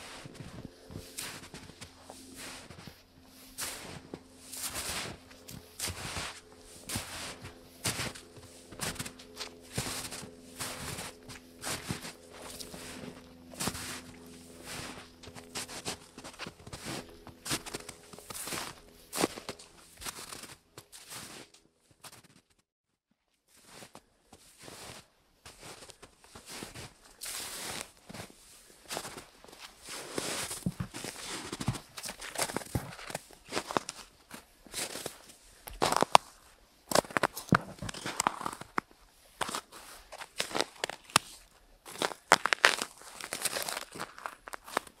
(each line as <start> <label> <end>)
0.0 WALKING ON THE SNOW 22.5
23.4 WALKING ON THE SNOW 45.0